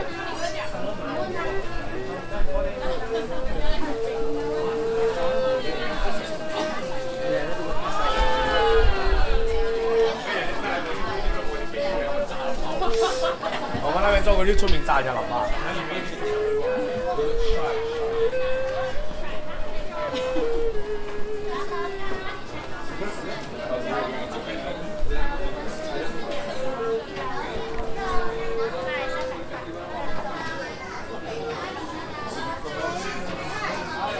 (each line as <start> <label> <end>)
0.0 Voices of vendors, visitors 34.1
0.0 erhu player 34.1